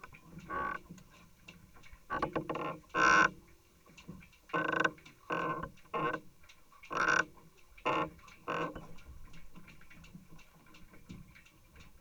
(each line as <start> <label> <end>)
0.0 planks of a pontoon 6.3